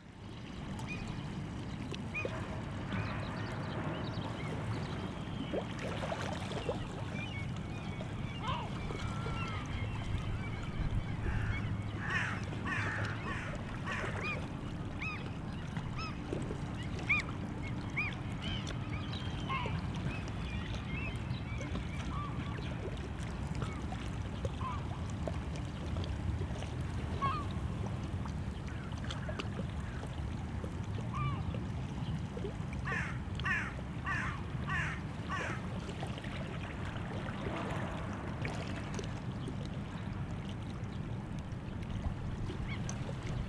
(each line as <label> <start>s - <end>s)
sea 0.0s - 43.4s
sounds of harbou in background 0.0s - 43.4s